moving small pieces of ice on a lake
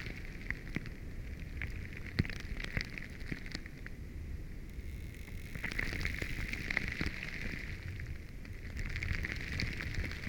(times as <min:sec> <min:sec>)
0:05.7 0:10.2